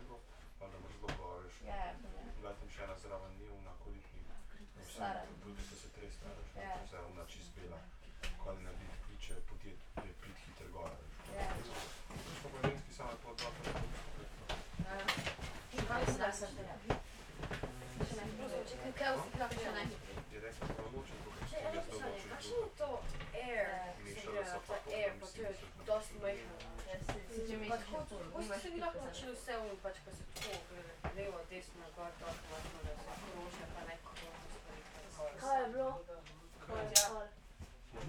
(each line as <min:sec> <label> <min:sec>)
0:14.6 group of youngsters 0:38.0